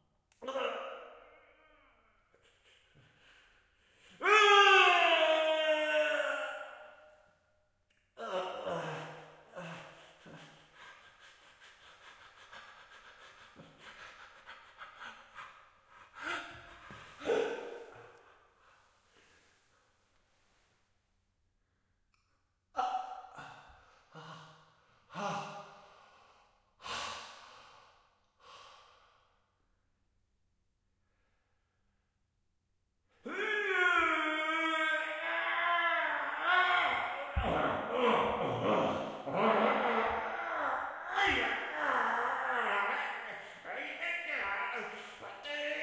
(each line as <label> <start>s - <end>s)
Breathing 3.0s - 4.2s
men crying in pain 8.2s - 11.3s
men crying in pain 16.0s - 18.1s
Breathing 23.4s - 29.4s
men crying in pain 33.3s - 43.9s